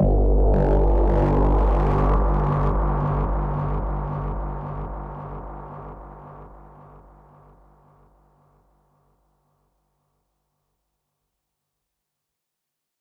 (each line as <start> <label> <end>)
0.0 bass 9.2